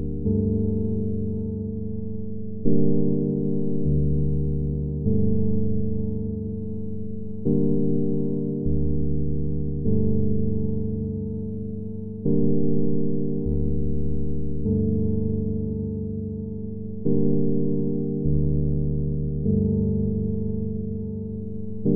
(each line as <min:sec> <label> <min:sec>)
0:00.0 bass 0:21.9
0:00.0 electric piano 0:21.9